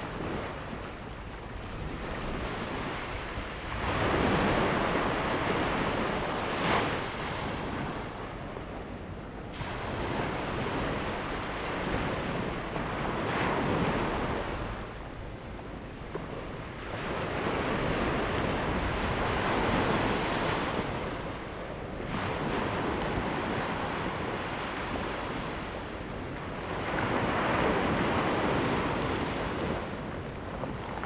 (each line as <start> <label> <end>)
0.0 waves 31.0